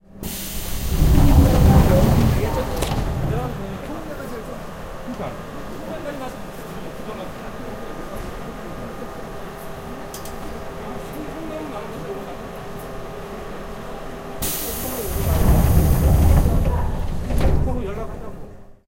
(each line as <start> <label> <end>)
0.2 Metro doors open close 4.8
14.4 Metro doors open close 18.8